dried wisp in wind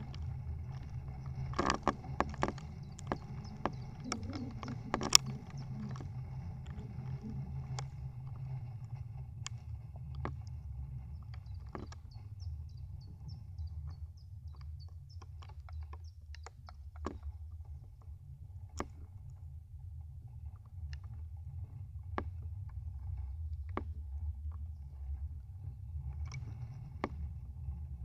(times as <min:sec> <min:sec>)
0:00.0 0:13.8